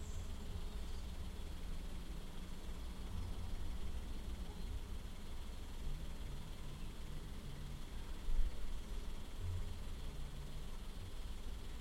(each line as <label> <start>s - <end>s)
wind 0.0s - 11.8s